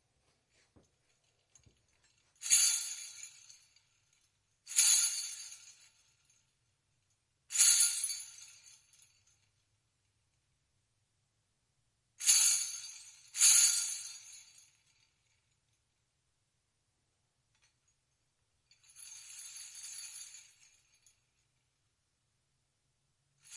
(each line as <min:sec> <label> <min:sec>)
0:01.0 Little Bells 0:06.5
0:07.5 Little Bells 0:09.6
0:12.2 Little Bells 0:15.6
0:18.7 Little Bells 0:21.5